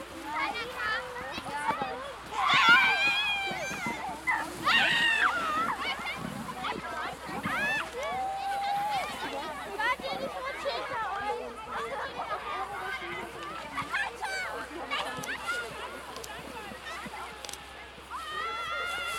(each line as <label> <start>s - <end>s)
children sledding and sliding down sacks 0.0s - 19.1s